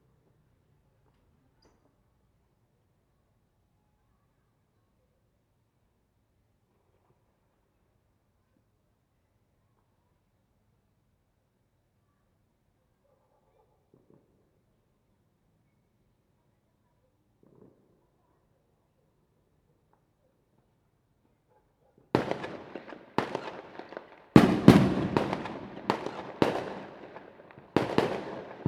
Firecrackers 22.1 - 28.6
Fireworks sound 22.2 - 28.6

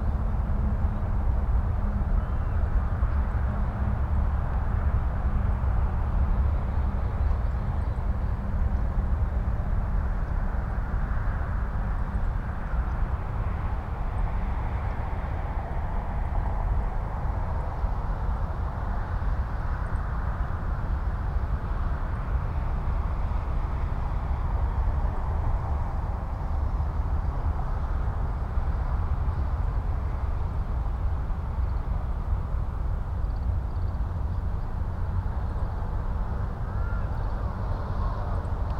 Traffic rumble 0.0 - 38.7
crows 36.7 - 37.2

